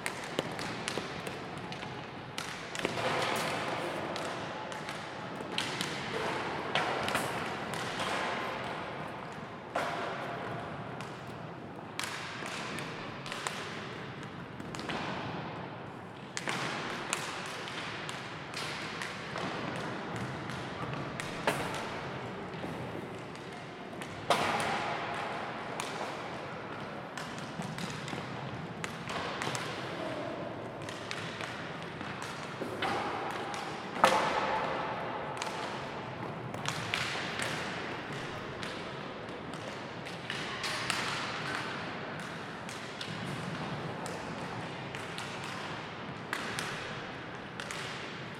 hockey warm-up 0:00.0 - 0:48.3

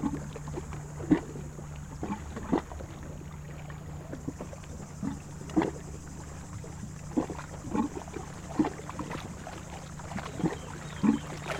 Bateaux sur le lac 0:00.0 - 0:11.5

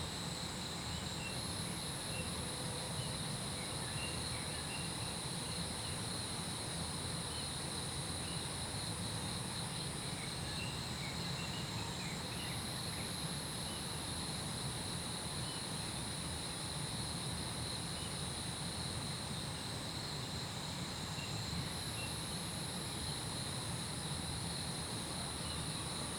Insect sounds 0:08.2 - 0:26.1

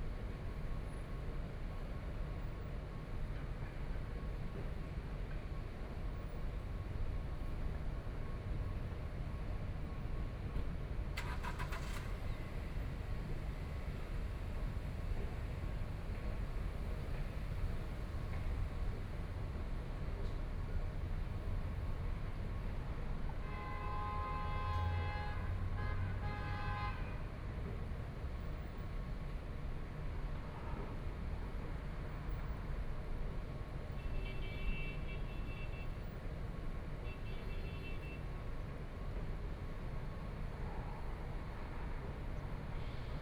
Traffic Sound 0:00.1 - 0:43.2

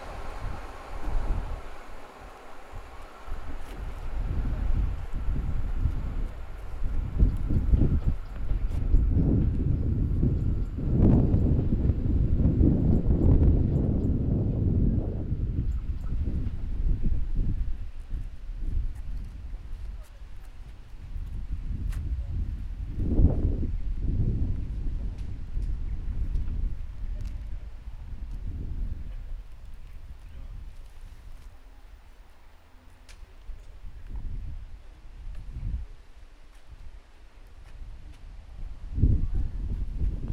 train passing by 0:00.0 - 0:15.6

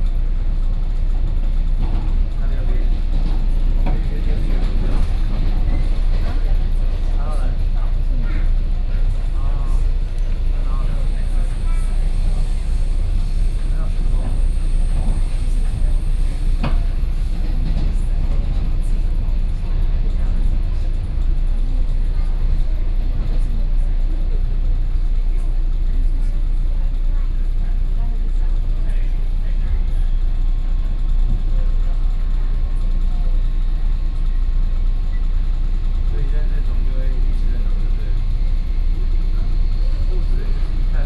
inside the Trains 0:00.0 - 0:41.0

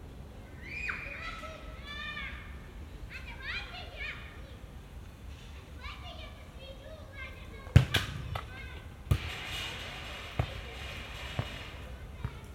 children are screaming 0:00.5 - 0:02.2

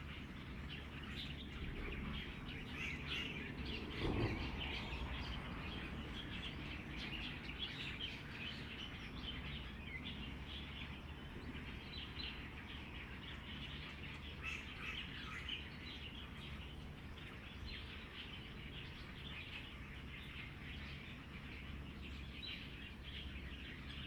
Birdsong 0:00.0 - 0:24.0

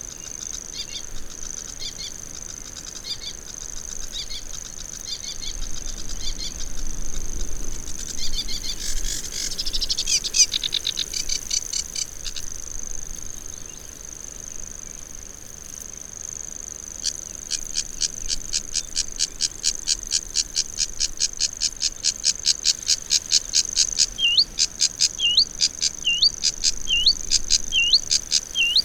bird song from grasshopper warbler 0:00.0 - 0:12.5
bird song from grasshopper warbler 0:17.0 - 0:28.8
sedge warbler 0:21.8 - 0:28.8
calls from grey heron 0:24.0 - 0:28.8

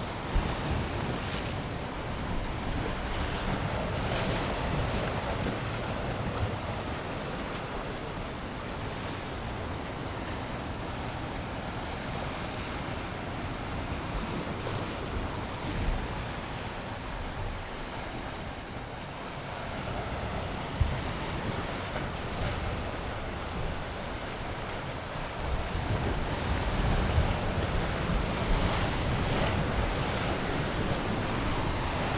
incoming tide 0:28.1 - 0:32.1

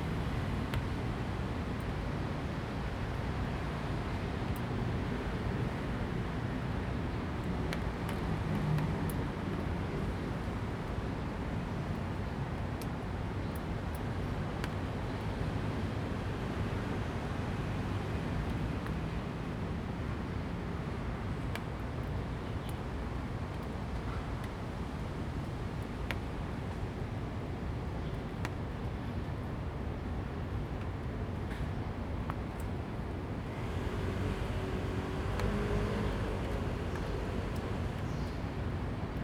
Raindrop 0:30.5 - 0:39.2
Traffic Sound 0:33.3 - 0:39.2

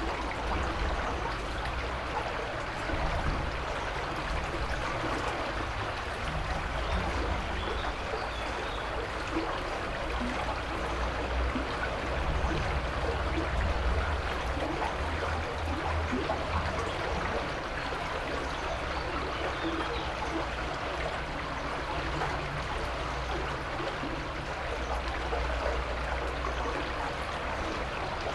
flowing, heard under the brigde 0:00.0 - 0:28.3

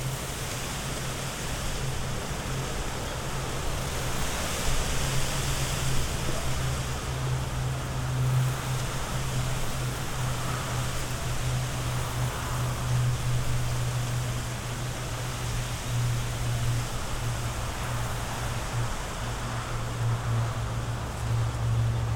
Strong wind blowing into young bamboo trees 0:00.0 - 0:22.1

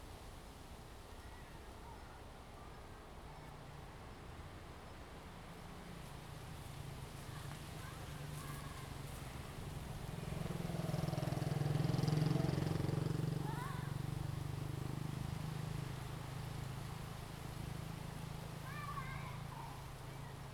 Wind 0:00.0 - 0:20.5

